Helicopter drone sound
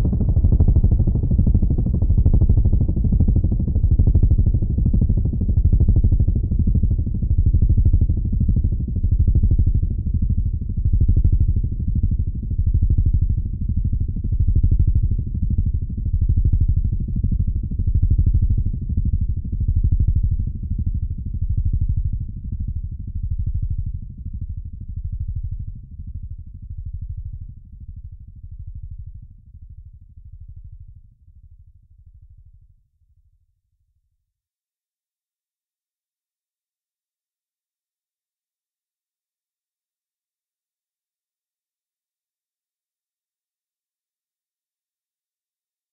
0:00.0 0:05.6

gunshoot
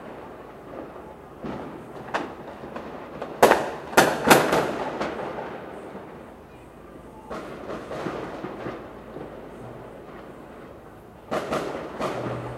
0:11.3 0:12.5

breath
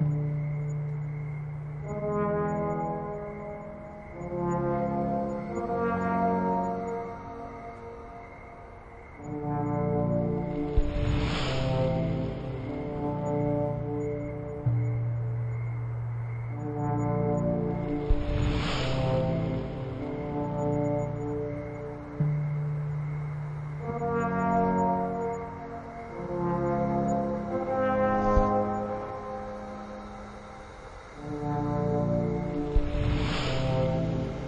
0:32.8 0:34.4

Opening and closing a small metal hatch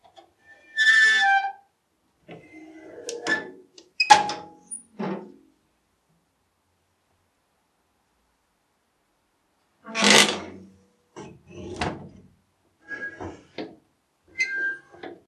0:02.3 0:05.4, 0:09.9 0:10.6, 0:11.2 0:12.3, 0:14.4 0:15.2

